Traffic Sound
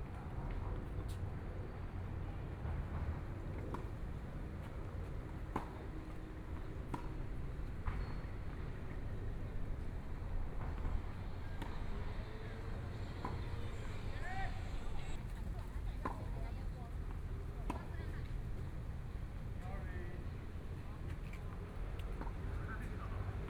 2.7s 15.8s

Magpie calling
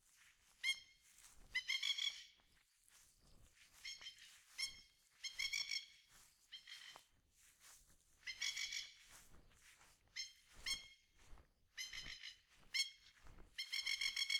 8.3s 8.9s

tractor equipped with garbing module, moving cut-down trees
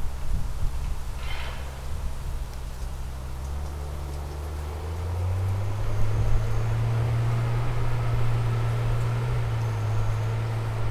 2.2s 10.9s

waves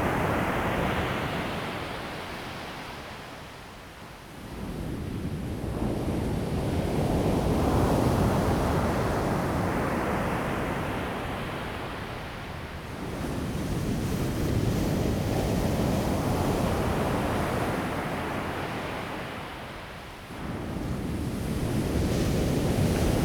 7.4s 23.2s

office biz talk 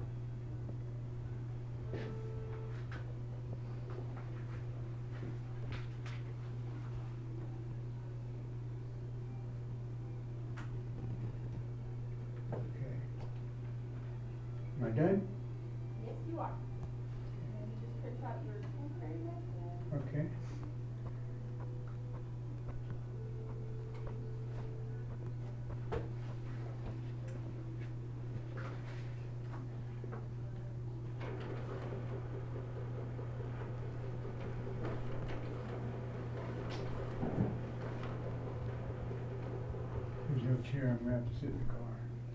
40.2s 42.1s

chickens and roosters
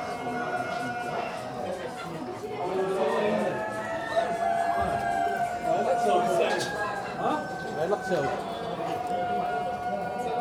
0.0s 6.0s

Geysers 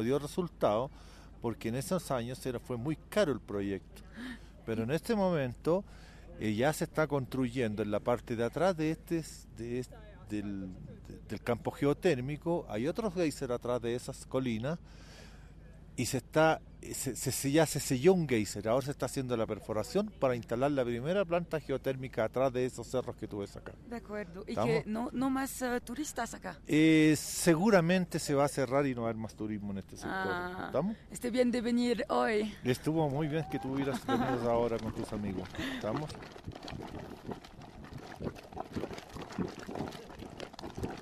33.2s 41.0s

